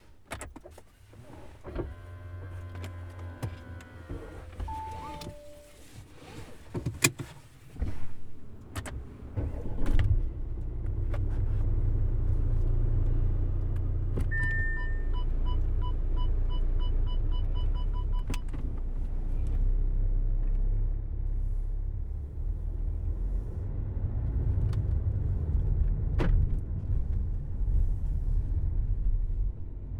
Car turning on and start driving 0.2 - 29.9

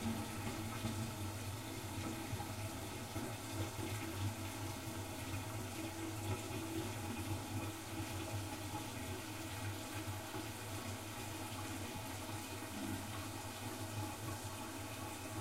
toilet 0.0 - 15.4

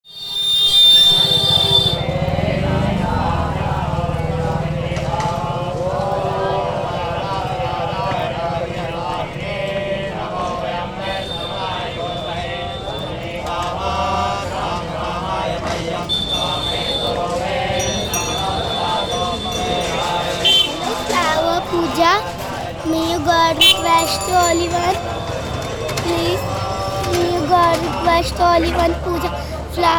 bells 8.1 - 14.6
bells 16.0 - 29.9

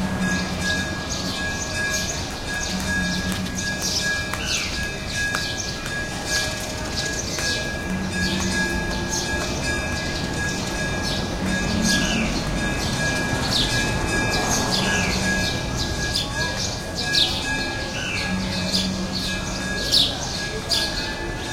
people walk down the street 0.0 - 21.5
temple bell sounds 0.0 - 21.5
traffic 0.0 - 21.5
Birds sing 0.2 - 21.5

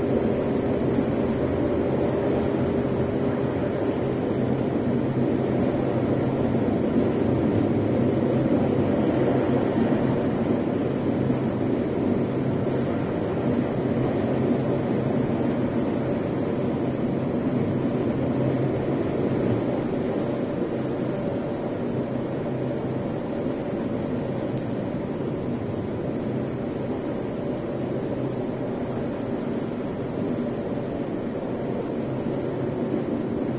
tornado 0.0 - 33.5

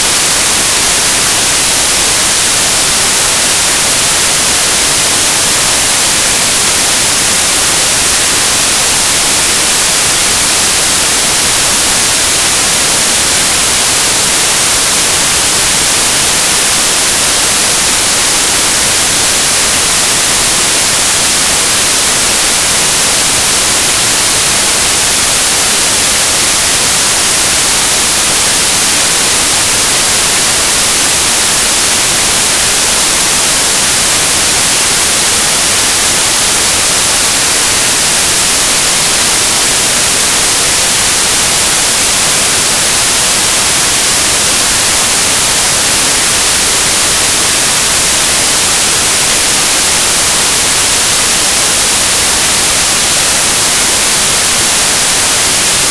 white noise 0.0 - 55.9

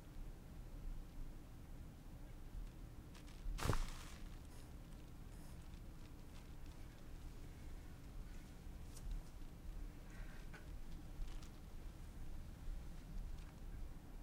Rope Sound 3.2 - 4.7

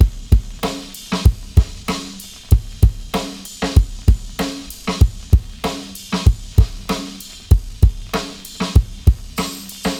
Acoustic Breakbeats 0.0 - 9.9

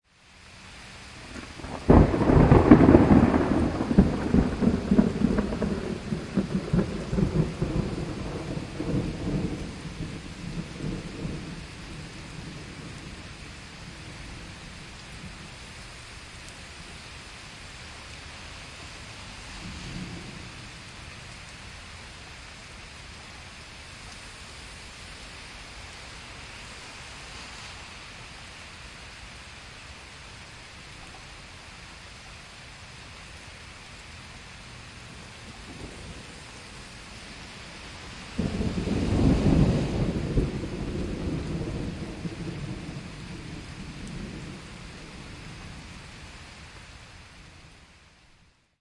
heavy rain 0.0 - 48.8
thunder 1.2 - 14.6
thunder 35.1 - 46.0

